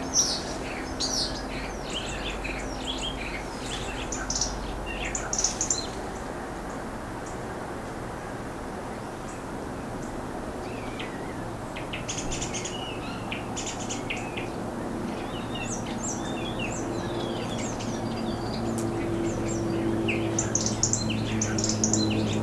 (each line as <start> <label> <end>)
0.0 Bird ambiance 22.4